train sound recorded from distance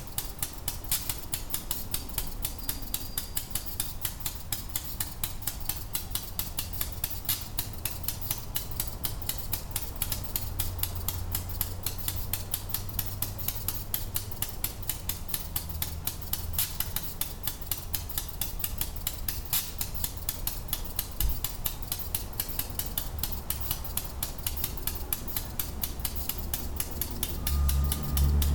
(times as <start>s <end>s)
20.0s 28.5s